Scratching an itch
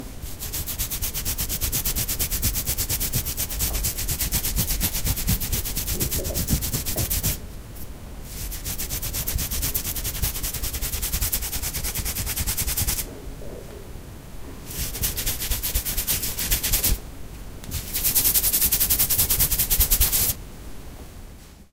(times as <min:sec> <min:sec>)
0:00.3 0:07.4, 0:08.3 0:13.1, 0:14.7 0:17.0, 0:17.7 0:20.4